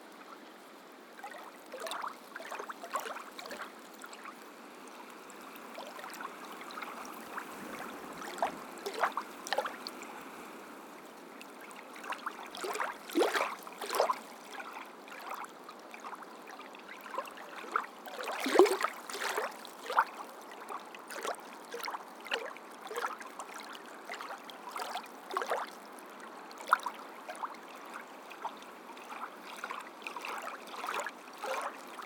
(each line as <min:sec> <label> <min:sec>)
0:05.1 waves in sand quarry pond 0:26.0